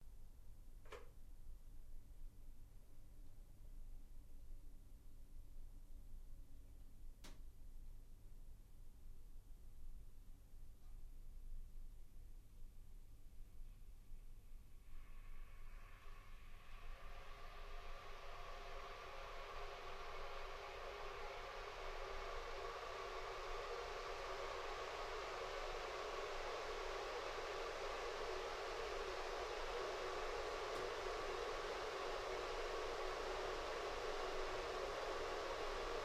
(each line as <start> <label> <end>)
15.9 cut-off when kettle is boiled 36.0
18.6 kettles boiling 36.0